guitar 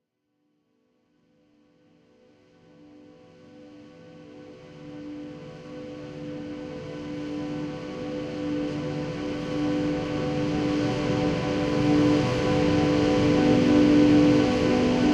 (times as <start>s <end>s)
3.6s 15.1s